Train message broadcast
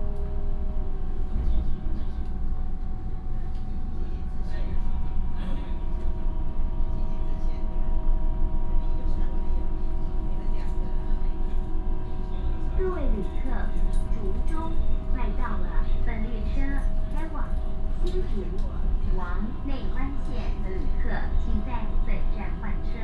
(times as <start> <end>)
12.6 23.0